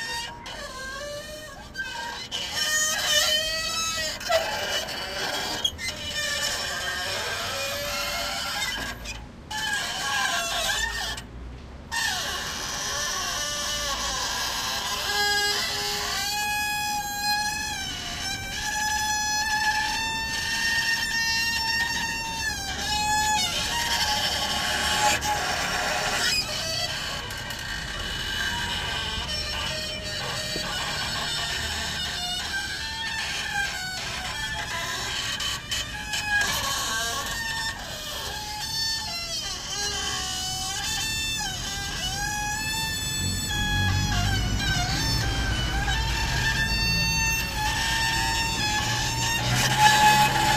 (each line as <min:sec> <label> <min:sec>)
0:00.0 noisy playground carrousel 0:50.5